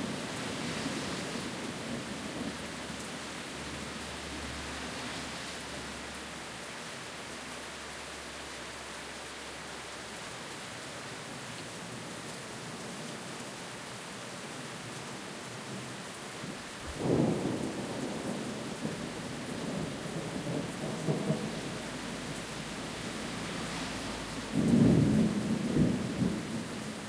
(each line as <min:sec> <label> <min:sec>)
0:00.0 heavy rain 0:27.0
0:16.8 Thunderstorm 0:27.0
0:21.4 occasional cars passing by 0:25.8